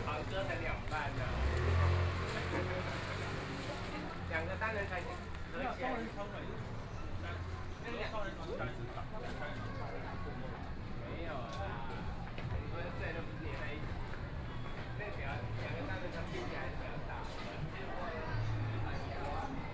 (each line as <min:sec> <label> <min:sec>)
0:00.0 Traffic Sound 0:07.8
0:08.6 Traffic Sound 0:19.7